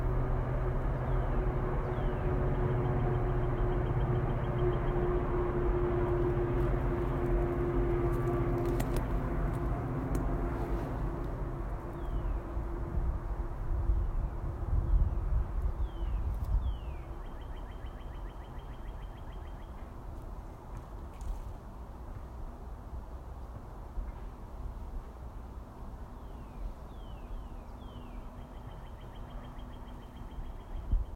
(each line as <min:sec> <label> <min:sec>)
0:00.0 airplanes fly overhead 0:31.1
0:00.8 birds 0:12.6
0:14.0 birds 0:21.6
0:26.0 birds 0:31.1